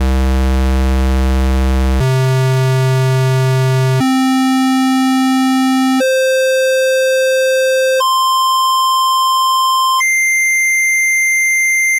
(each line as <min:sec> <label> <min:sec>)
0:00.0 simple square wave in concert C 0:10.0